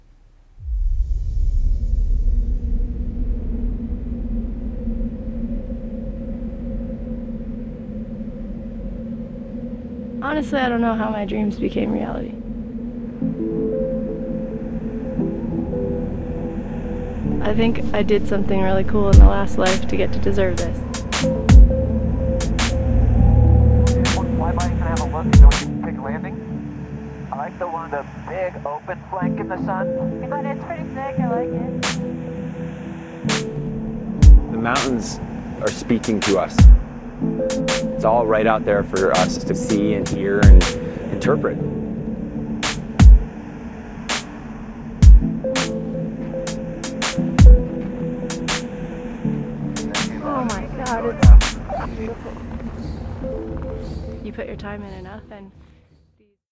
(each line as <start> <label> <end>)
10.7 slow beats 26.0
13.2 Celtic melodies 27.7
33.2 slow beats 55.2